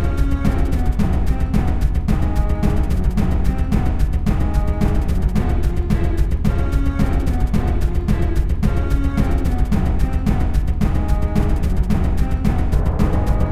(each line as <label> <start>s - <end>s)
Strings 0.0s - 13.5s
choir 0.0s - 13.5s
drums 0.0s - 13.5s
crash 12.6s - 13.5s